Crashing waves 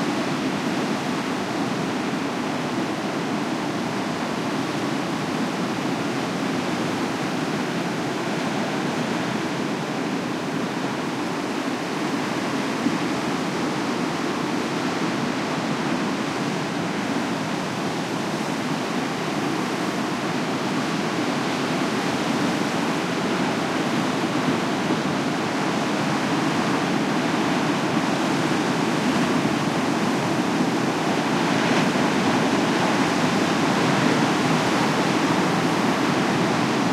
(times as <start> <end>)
16.0 36.9